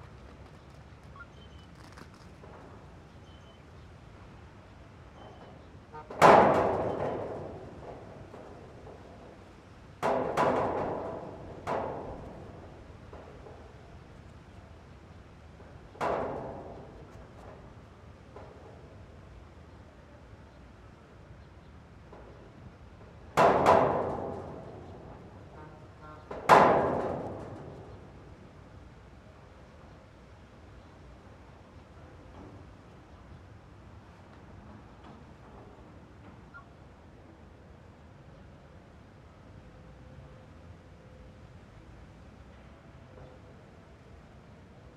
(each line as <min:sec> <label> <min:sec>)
0:00.0 wind 0:44.9